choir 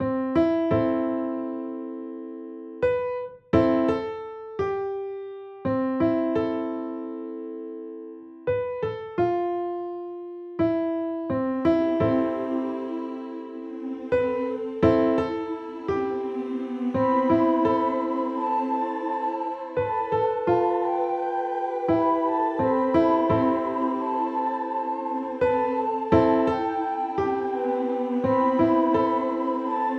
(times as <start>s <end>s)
11.9s 29.9s